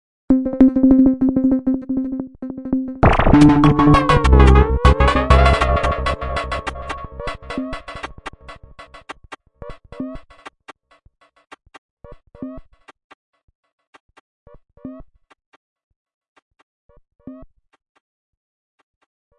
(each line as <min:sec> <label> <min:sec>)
0:00.3 weird electronid effects loog 0:09.1